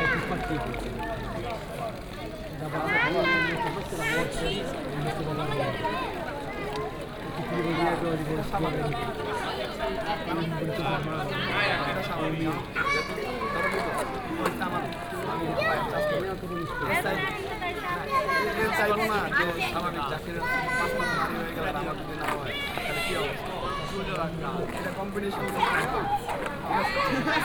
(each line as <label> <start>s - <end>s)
fountain 0.0s - 27.4s
people sitting near the fountain 0.0s - 27.4s